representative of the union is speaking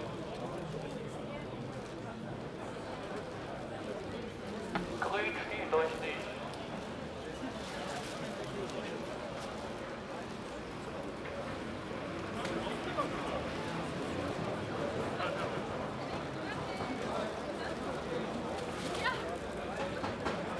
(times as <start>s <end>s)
4.9s 6.7s